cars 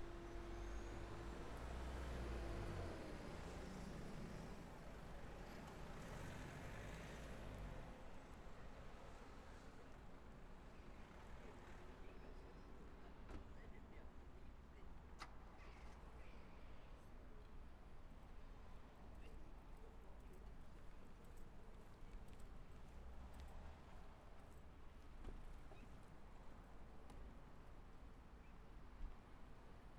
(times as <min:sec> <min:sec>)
0:00.0 0:08.0